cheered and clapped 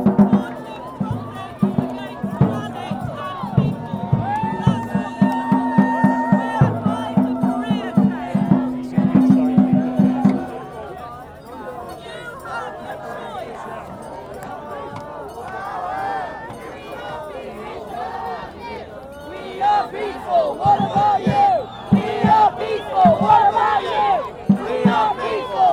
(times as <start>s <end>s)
0.0s 8.6s